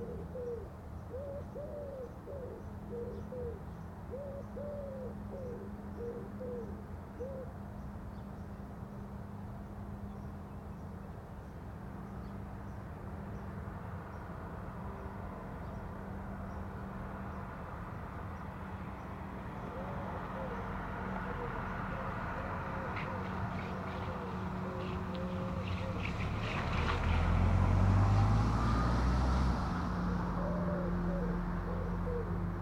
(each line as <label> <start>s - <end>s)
Cars 0.0s - 32.6s
a few birds 19.5s - 27.3s